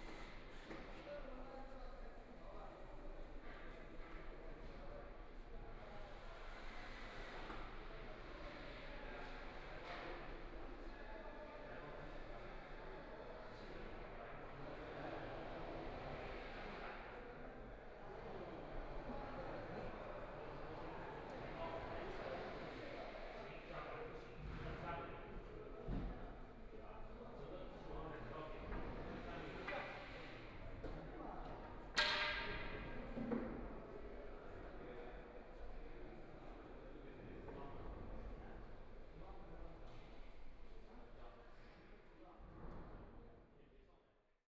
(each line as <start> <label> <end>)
0.0 Construction workers are arranged exhibition 44.4